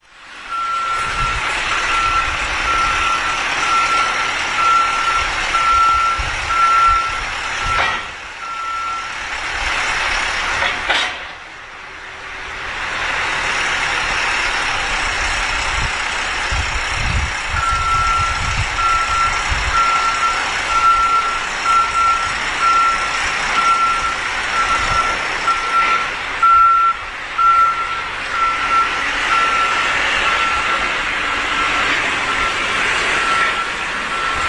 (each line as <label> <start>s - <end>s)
two bulldozers are cleaning of snow from pavements 0.0s - 34.4s